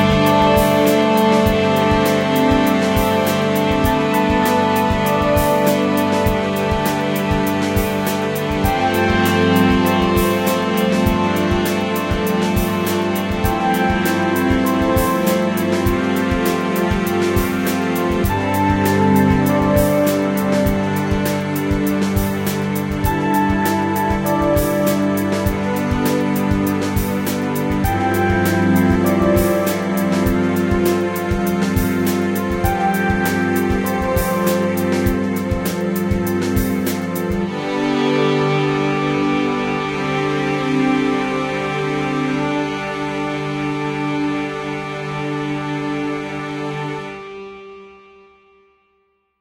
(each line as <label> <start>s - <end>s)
simple electronic motives 0.0s - 44.7s
strings 0.0s - 48.0s